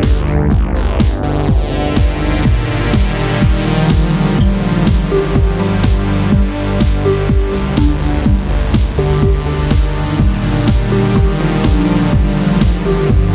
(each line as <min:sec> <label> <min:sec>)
0:00.0 bass 0:13.3
0:00.0 drum 0:13.3
0:00.0 synth 0:13.3